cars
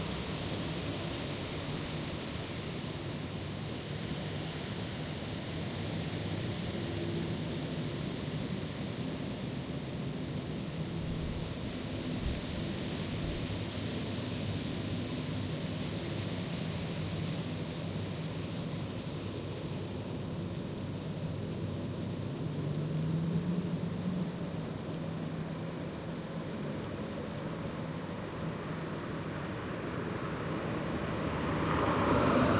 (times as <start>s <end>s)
22.0s 32.5s